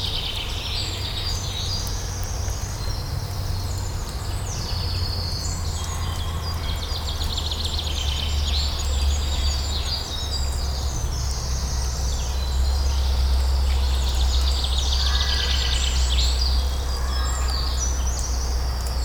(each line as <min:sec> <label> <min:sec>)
0:00.0 birds singing 0:19.0